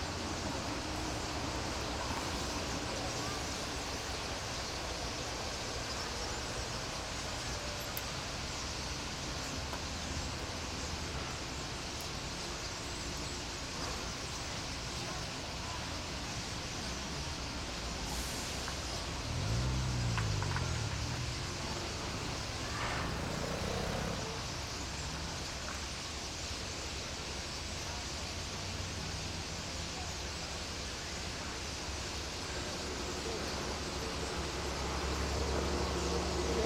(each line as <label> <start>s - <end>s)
Birds 0.0s - 36.6s